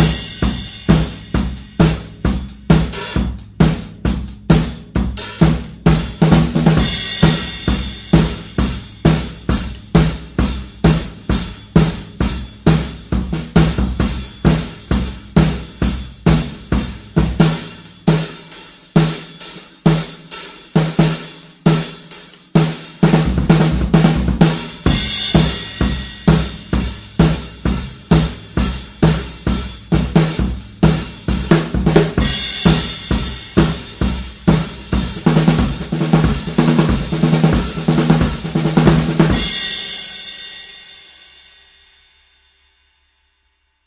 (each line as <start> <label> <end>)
0.0 snare drum tuned low 2.9
0.0 Straight drum beats 41.1
22.4 snare drum tuned low 29.3
29.9 snare drum tuned low 39.7